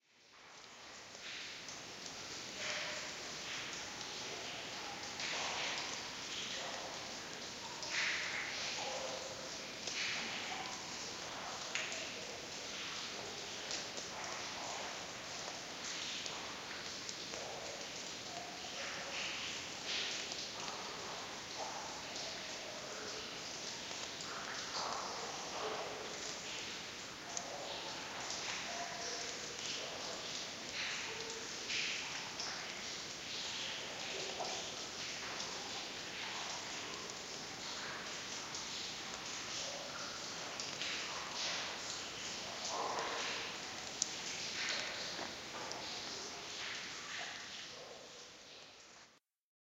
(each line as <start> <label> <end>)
0.4 dripping 48.9